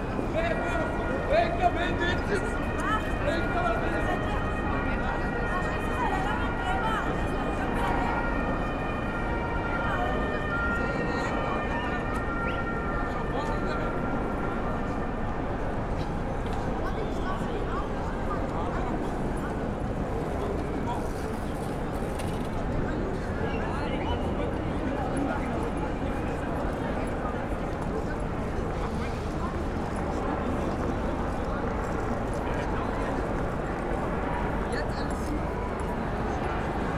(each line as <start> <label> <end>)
0.0 people leaving and entering the subway station 36.9
0.0 police sirens 21.3
0.0 police helicopters 36.9